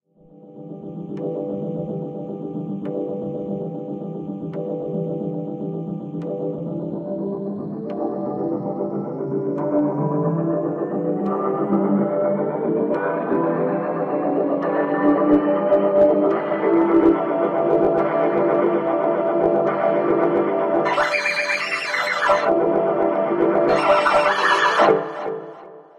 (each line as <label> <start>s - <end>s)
drone 20.8s - 22.8s
drone 23.4s - 25.6s